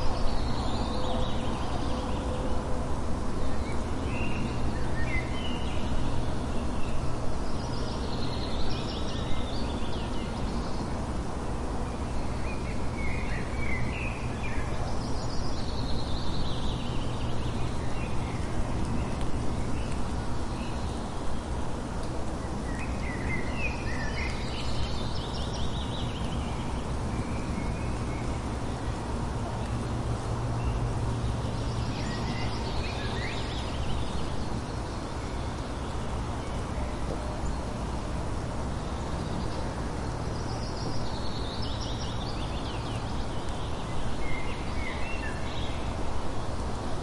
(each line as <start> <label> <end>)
0.0 birds 47.0
0.0 light rain shower 47.0